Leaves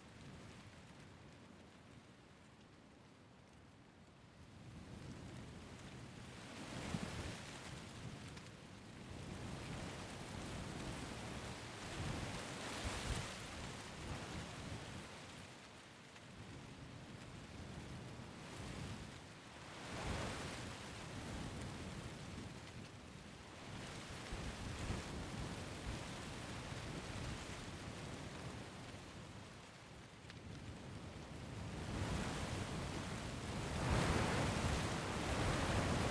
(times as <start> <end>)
31.8 36.1